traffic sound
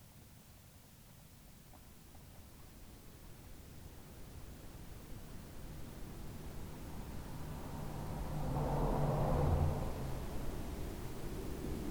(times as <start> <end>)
5.3 11.9